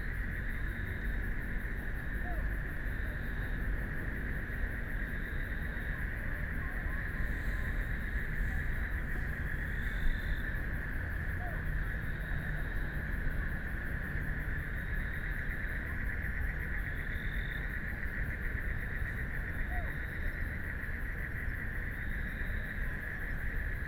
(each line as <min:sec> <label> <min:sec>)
0:00.0 Frogs sound 0:23.8
0:07.0 Traffic Sound 0:11.2